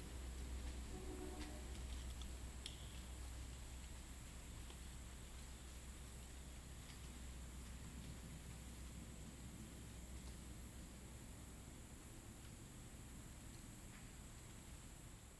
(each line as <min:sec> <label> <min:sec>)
0:00.0 train passes overhead 0:02.6
0:00.9 Train horn 0:01.8